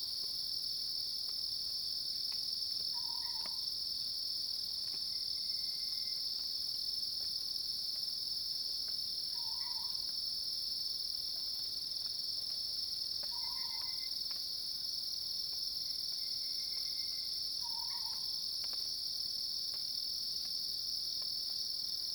Cicadas cries 2.9 - 3.7
Cicadas cries 9.3 - 10.0
Cicadas cries 13.3 - 14.2
Cicadas cries 15.8 - 18.4

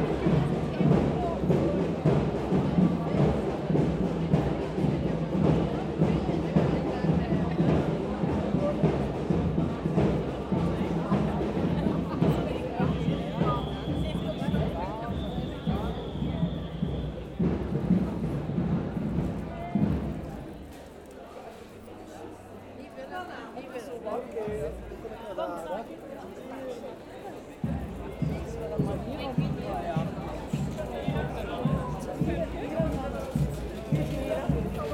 drums 0.0 - 21.9
Gay pride parade passes through the city 0.0 - 34.9
whistles 12.8 - 17.4
drums 24.5 - 25.2
drums 27.4 - 34.9

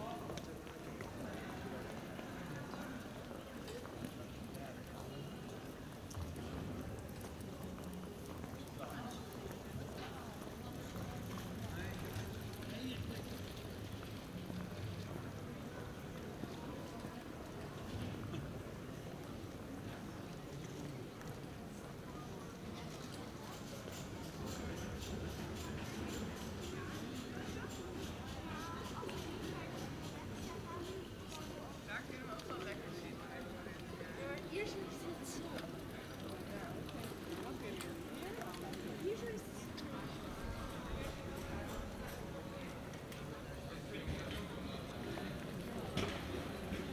Pedestrians 0.0 - 46.9
Movers working in the background 22.7 - 46.9

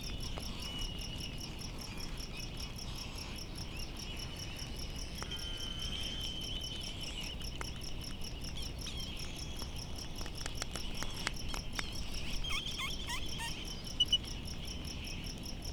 cricket 0.0 - 15.7
white tern 11.9 - 14.3

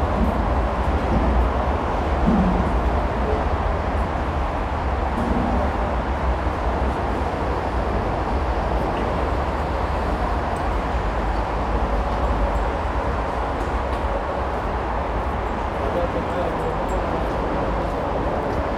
traffic 0.0 - 18.7
trains arriving 0.0 - 18.7

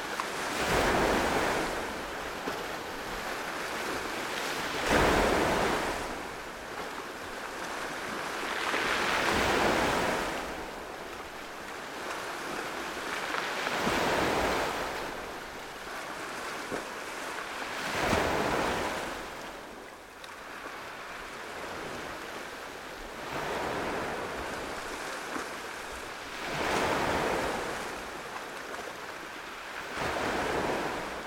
waves 0.0 - 31.2

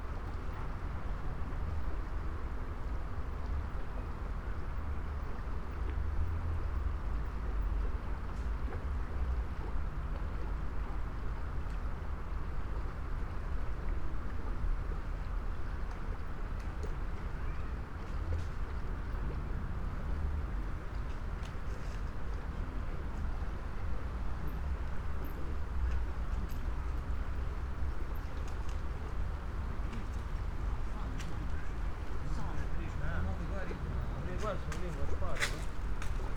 walkers 25.1 - 36.3

